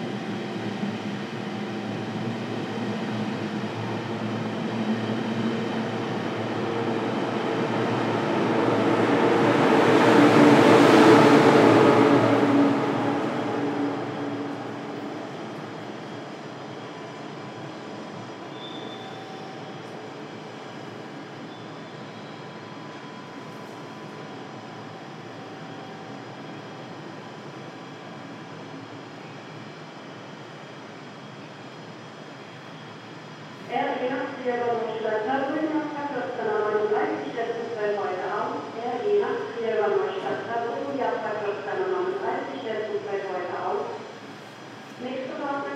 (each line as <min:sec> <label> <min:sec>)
0:00.0 platform announcementsstorm sabine train canceld 0:45.7